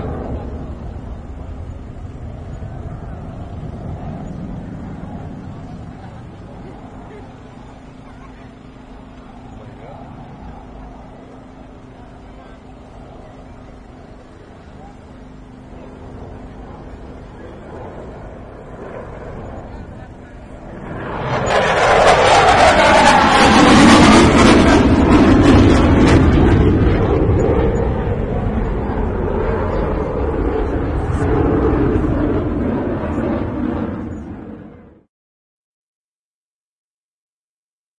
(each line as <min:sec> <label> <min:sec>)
0:00.0 jet 0:35.1